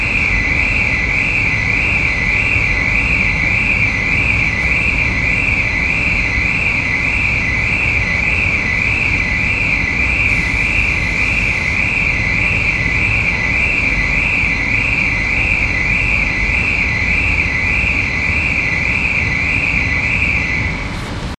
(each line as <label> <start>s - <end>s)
motion sensing car alarm 0.0s - 20.8s